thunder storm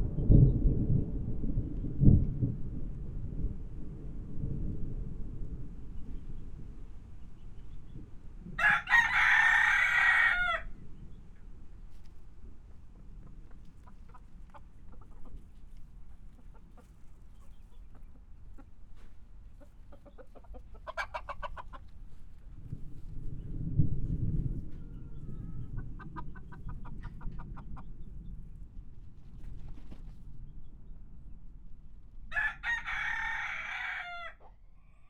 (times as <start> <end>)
0.0 12.7, 22.5 29.0